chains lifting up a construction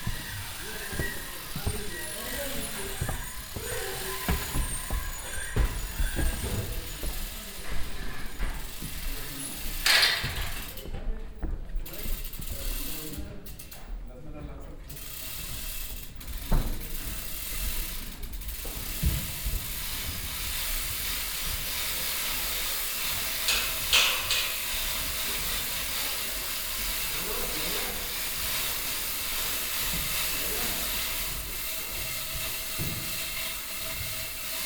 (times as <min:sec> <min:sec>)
0:00.0 0:10.9, 0:19.4 0:34.6